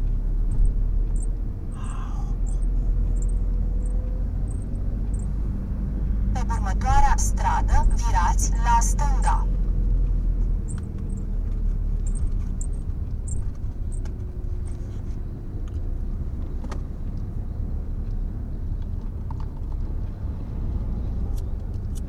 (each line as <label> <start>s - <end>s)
navigating his van 0.0s - 22.0s